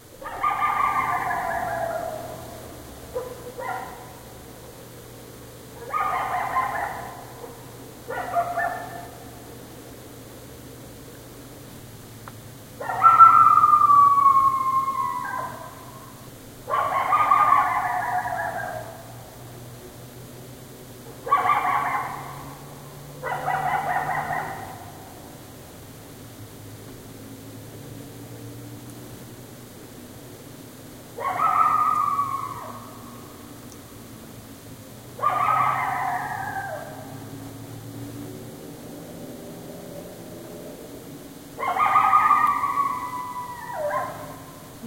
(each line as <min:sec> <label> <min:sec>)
0:00.1 coyote barks and howls 0:09.6
0:12.8 coyote barks and howls 0:19.6
0:21.0 coyote barks and howls 0:25.5
0:31.1 coyote barks and howls 0:34.0
0:35.0 coyote barks and howls 0:38.0
0:38.8 coyote barks and howls 0:44.8